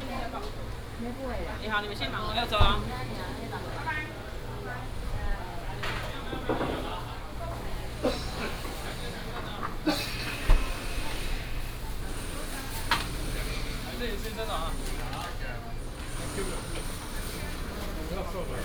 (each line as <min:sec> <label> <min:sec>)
0:02.0 vendors peddling 0:18.6